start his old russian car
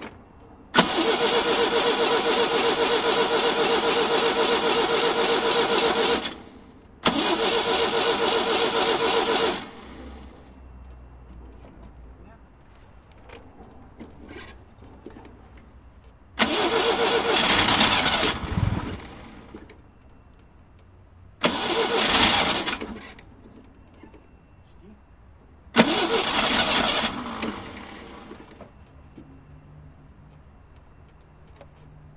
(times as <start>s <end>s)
0.7s 10.5s, 16.4s 19.8s, 21.4s 23.3s, 25.7s 28.7s